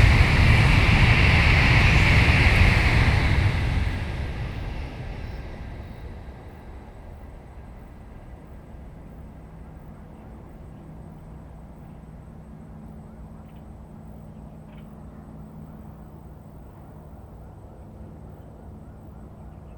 High-speed railway train passing through 0.0 - 14.2

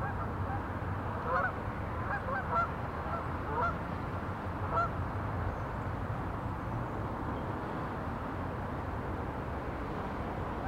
horde of geese 1.3 - 3.8

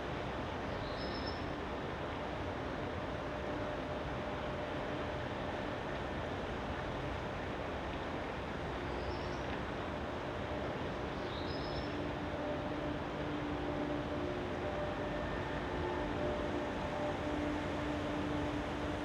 hum of the opposite river dam 0.0 - 19.0

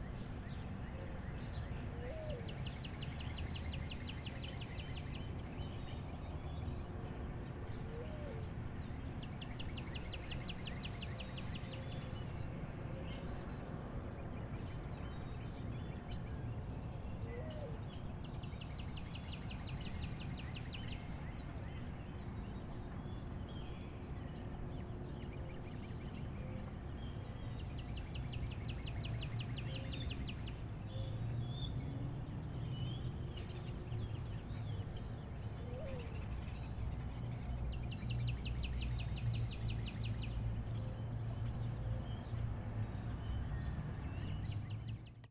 birdsong 0.0 - 45.3

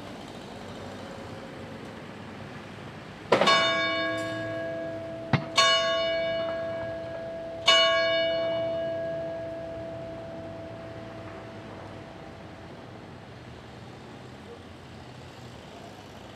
church bell 3.3 - 12.8

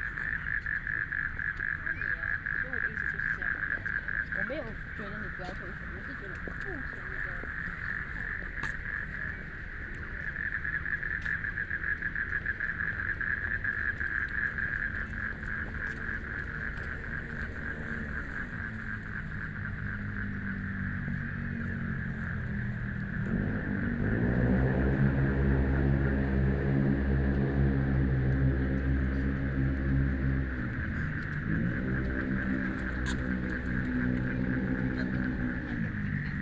People walking and running 0.0 - 24.4
Frogs sound 0.0 - 36.4
Traffic Sound 0.0 - 36.4

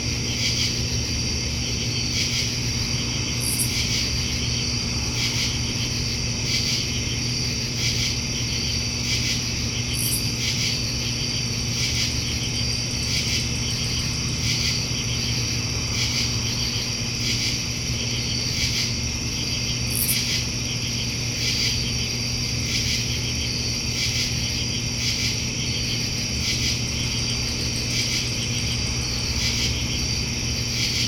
crickets 0.0 - 31.0
hum of an AC fan 0.0 - 31.0

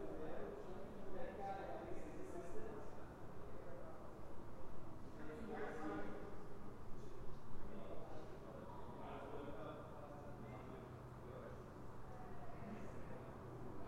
People talking 0.0 - 4.1
People talking 5.1 - 6.3

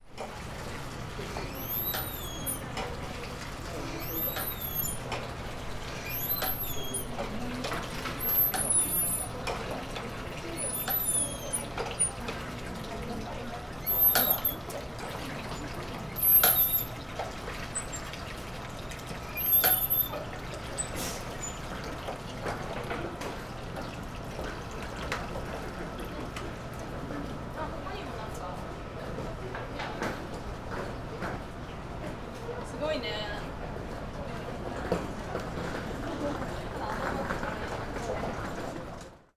pumping water from a manual water pump into buckets 0.1 - 28.4

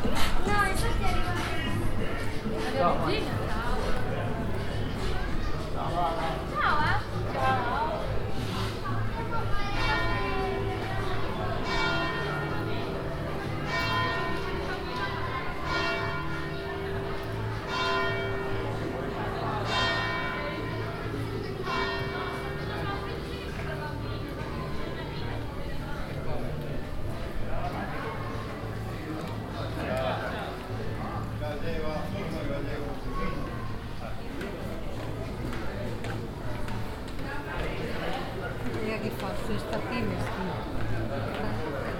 people 0.0 - 41.9

